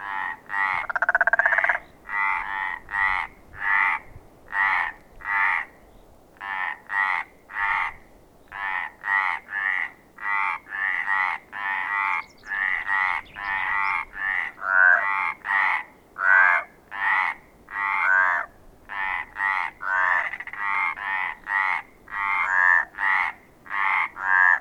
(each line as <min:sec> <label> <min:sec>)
0:00.0 Crazy frogs 0:04.0
0:08.6 Crazy frogs 0:24.6